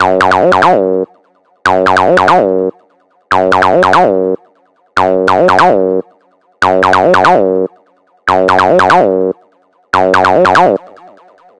acid riff 0:00.0 - 0:04.4
acid riff 0:05.0 - 0:09.4
acid riff 0:10.0 - 0:11.0

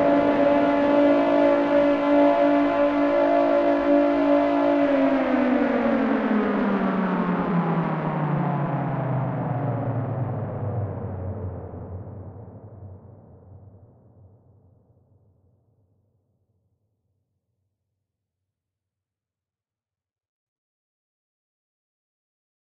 Air Raid Siren Alarm 0:00.0 - 0:06.8

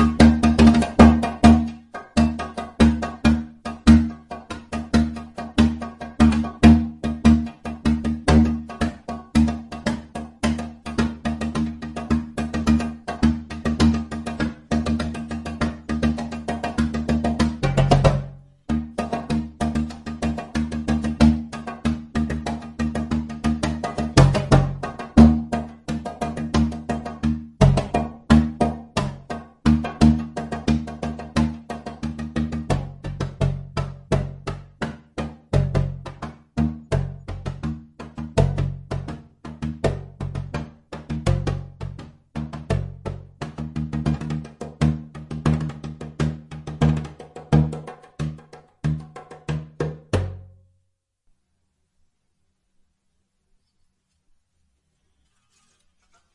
djembe 0:00.0 - 0:50.6

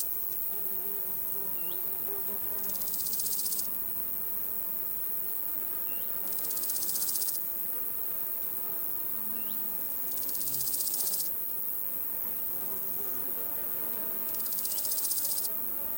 crickets 0:00.0 - 0:15.9
insects 0:00.0 - 0:15.9

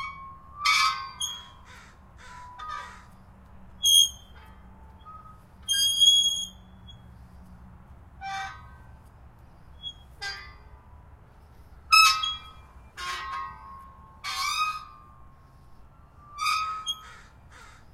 squeaky gate 0:00.0 - 0:07.5
squeaky gate 0:08.2 - 0:10.8
squeaky gate 0:11.9 - 0:17.9

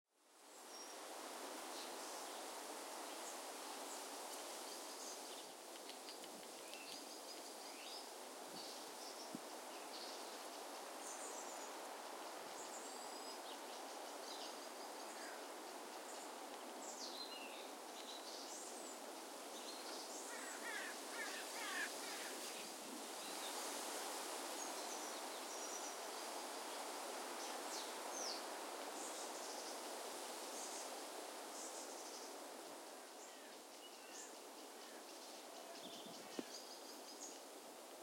Wind in forest 0:00.1 - 0:38.0
crows 0:20.3 - 0:22.4

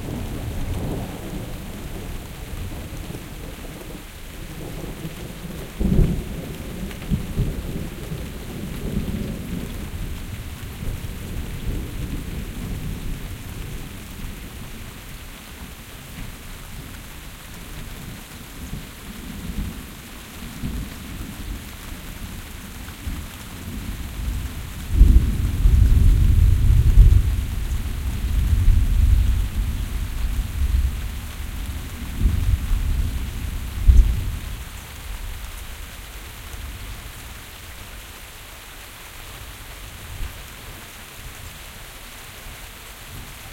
rains 0:00.0 - 0:43.5
thunder 0:24.9 - 0:31.2
thunder 0:32.0 - 0:34.6

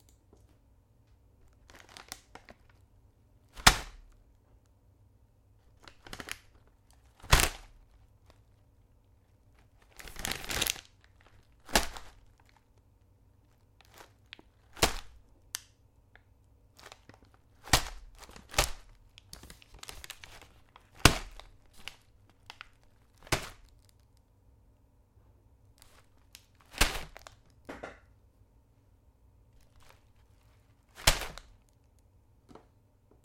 sunflower seeds bag thrown 0:30.9 - 0:31.5

